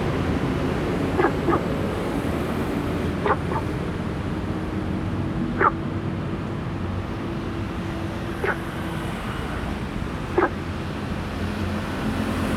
Traffic Sound 0.0 - 12.5
Frog sound 1.2 - 1.7
Frog sound 3.2 - 3.7
Frog sound 5.6 - 5.8
Frog sound 8.4 - 8.7
Frog sound 10.4 - 10.6

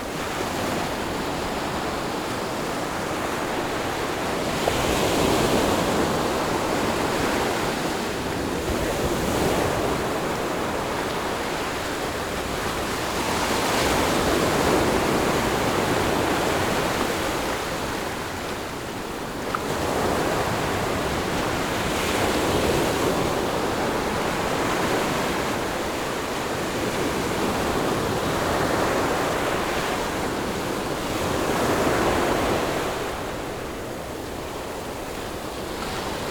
waves 0.0 - 36.3

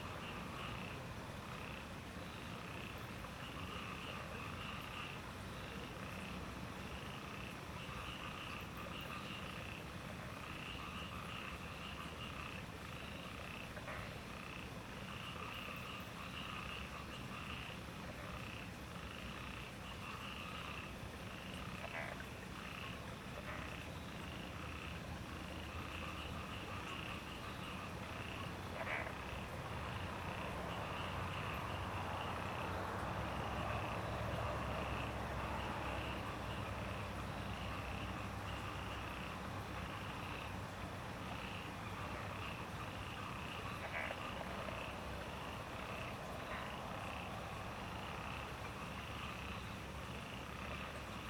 Frogs chirping 0.0 - 51.2
water 0.0 - 51.2

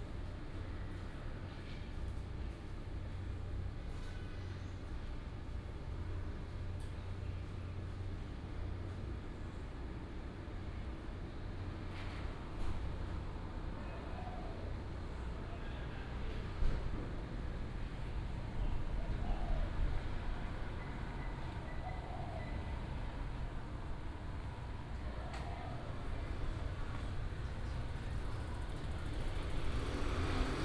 Walking in a small alley 0.0 - 30.6
Traffic sound 11.7 - 30.6

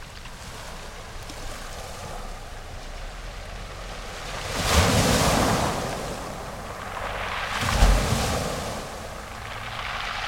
Clawing wave action 4.1 - 10.2

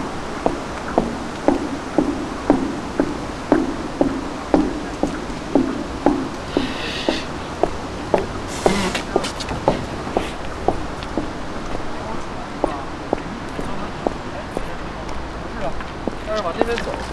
green boots on the pedestrian bridge 0.0 - 17.1

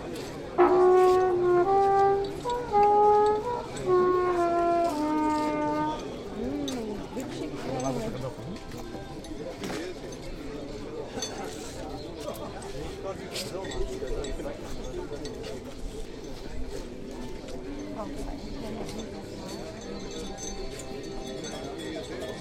old trumpet 0.4 - 6.4

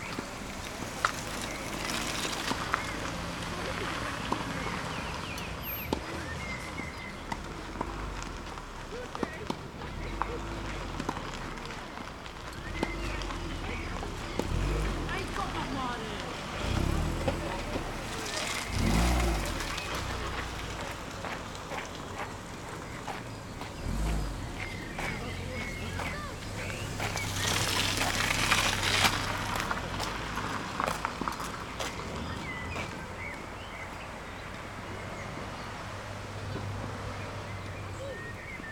youngsters training 12.6 - 30.8

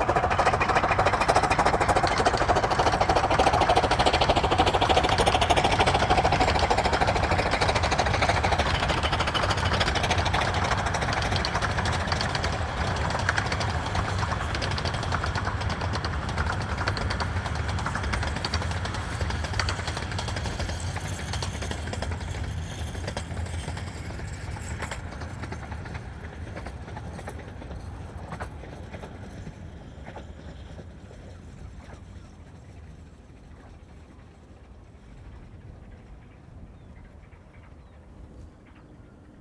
puffing steam train 0.0 - 35.7

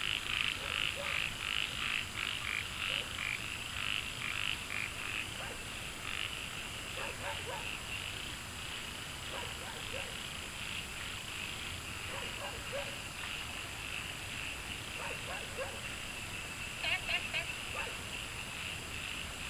Frogs chirping 0.0 - 19.4
Dogs barking 0.6 - 1.3
Dogs barking 5.4 - 5.7
Dogs barking 7.0 - 7.8
Dogs barking 9.3 - 10.2
Dogs barking 12.1 - 13.0
Dogs barking 15.0 - 15.9
Dogs barking 17.7 - 18.0

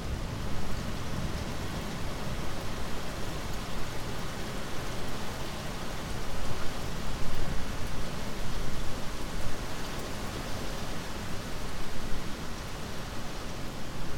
rain 0.0 - 14.1
wind 0.0 - 14.1

